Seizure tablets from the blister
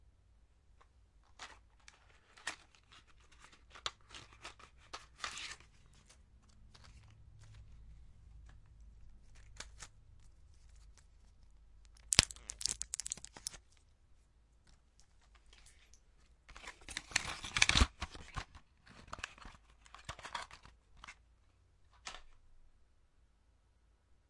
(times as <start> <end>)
11.9 13.6